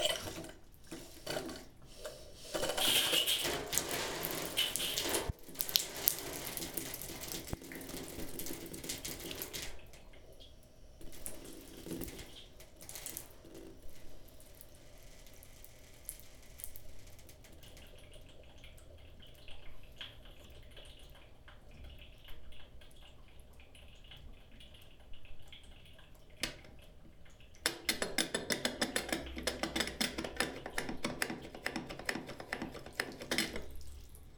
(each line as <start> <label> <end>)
0.0 Playing with water 14.7
15.6 Playing with water 34.3